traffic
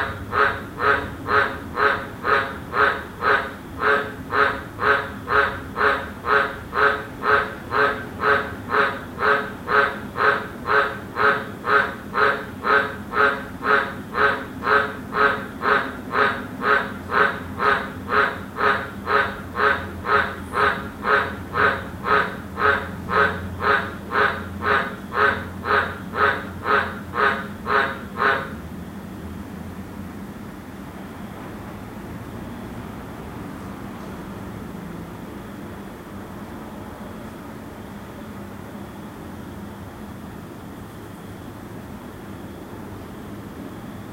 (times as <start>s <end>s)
0.0s 10.2s, 16.1s 30.2s, 30.9s 37.5s